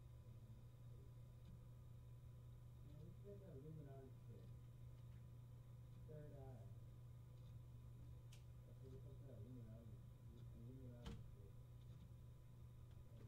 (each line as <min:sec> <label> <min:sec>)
0:00.0 room tone of a quiet room 0:13.2
0:02.8 voices heard in the background 0:04.6
0:08.6 voices heard in the background 0:11.6